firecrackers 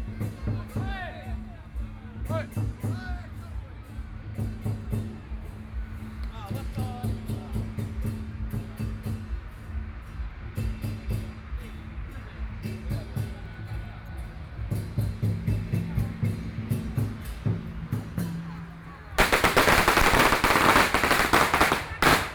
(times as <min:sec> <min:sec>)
0:19.1 0:22.3